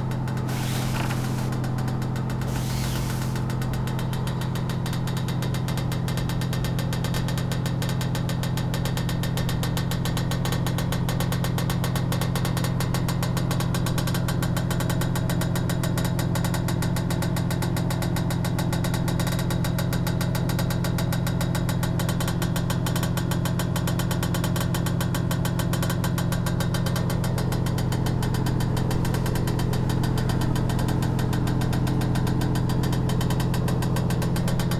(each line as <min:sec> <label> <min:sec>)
0:00.0 electric oven with ventilator 0:05.2
0:00.5 grater touching glass pot 0:01.6
0:02.5 grater touching glass pot 0:03.5